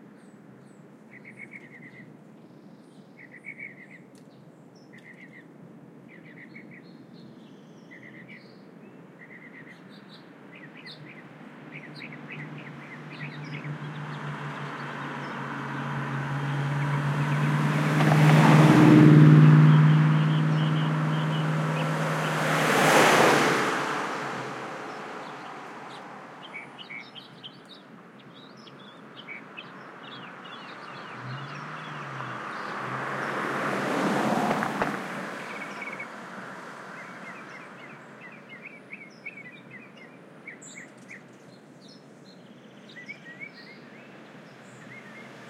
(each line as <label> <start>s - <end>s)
canyon traffic 10.4s - 39.0s